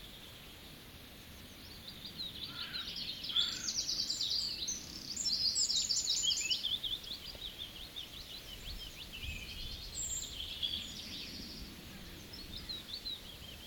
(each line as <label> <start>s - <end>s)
Birds calling close and from a distance 0.0s - 13.6s